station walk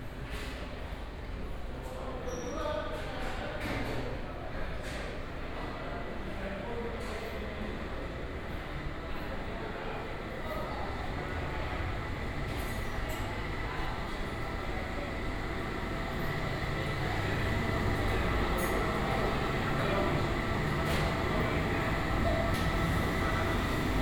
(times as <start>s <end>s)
14.7s 24.0s